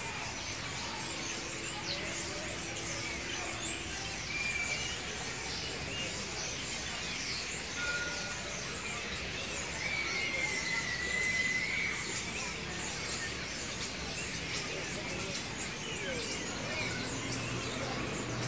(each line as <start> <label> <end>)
0.0 trams go by 11.1
0.0 children chirping and calling 18.4
0.0 noisy starlings 18.4
14.4 trams go by 18.4